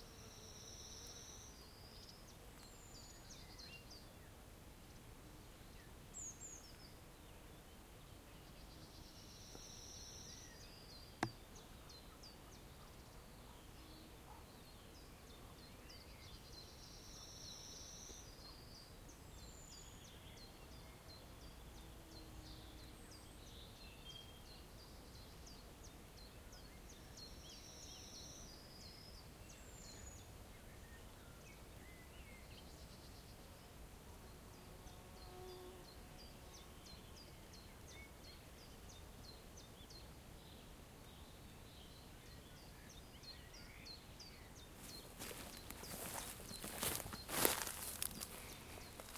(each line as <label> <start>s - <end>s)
birdsong 0.0s - 49.1s